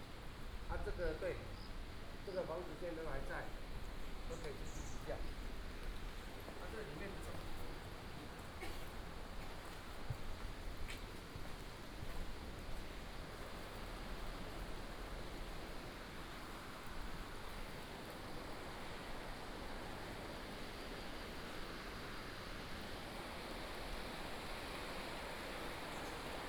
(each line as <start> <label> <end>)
0.0 Walking in the old alley 25.8
12.6 Stream sound 26.4